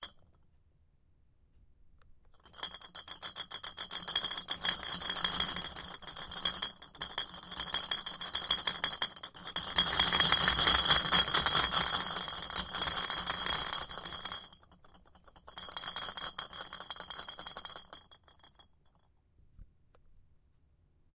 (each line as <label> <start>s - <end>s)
Bottles Rattling 2.4s - 18.1s